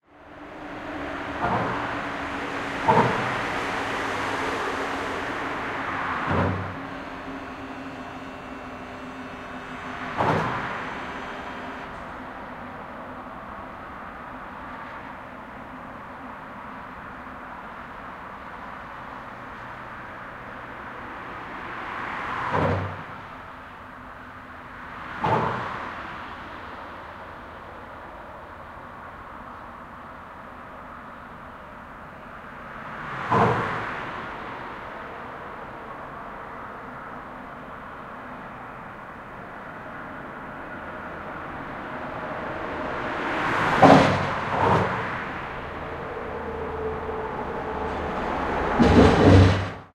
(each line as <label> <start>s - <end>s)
traffic 0.0s - 49.9s